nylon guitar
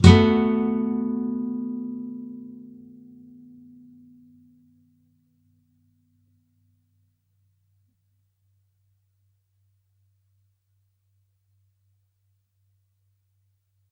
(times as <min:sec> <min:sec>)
0:00.0 0:04.8